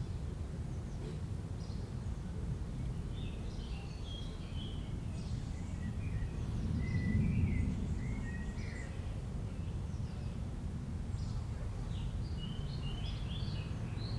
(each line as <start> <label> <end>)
0.0 Birds 14.1
4.9 various aircraft 9.5